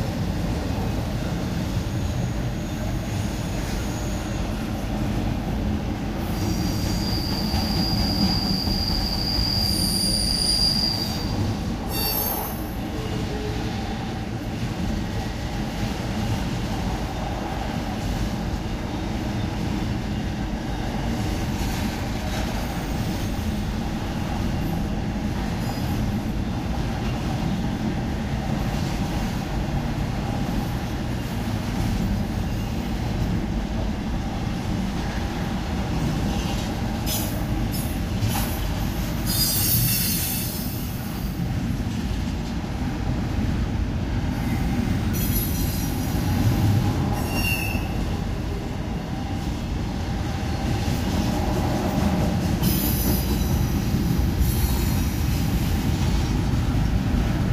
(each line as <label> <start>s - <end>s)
freight train passing a railroad crossing 0.0s - 57.5s
Whistle 6.9s - 11.3s